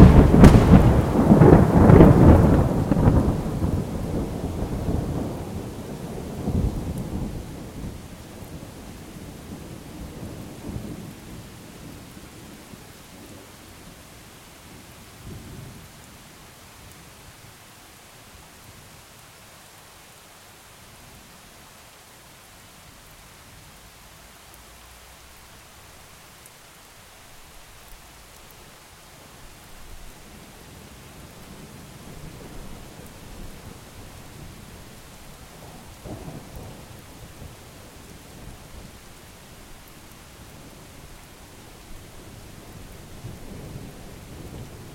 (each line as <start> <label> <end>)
0.0 thunders in the back 5.7
0.0 rain 44.9